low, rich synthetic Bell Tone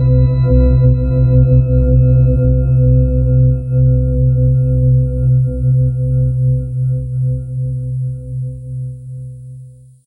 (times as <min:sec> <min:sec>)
0:00.0 0:07.9